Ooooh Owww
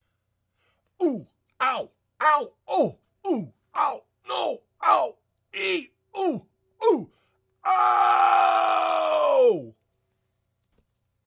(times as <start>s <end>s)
6.2s 9.8s